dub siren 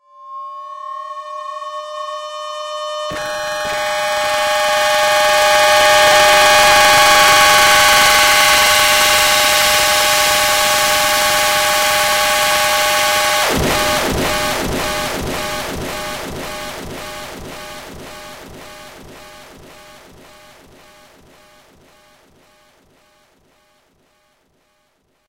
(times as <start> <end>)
0.6 20.5